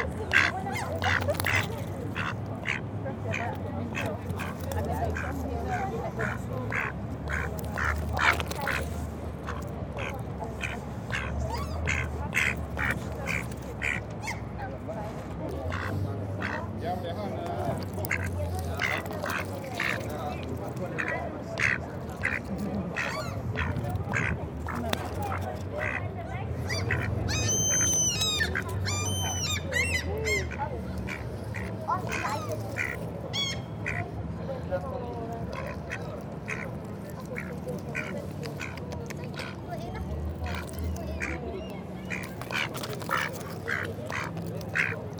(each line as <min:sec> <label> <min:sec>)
0:00.0 Mallard duck eating bread crumbs 0:45.1
0:26.7 Black-headed Gull shouting 0:34.1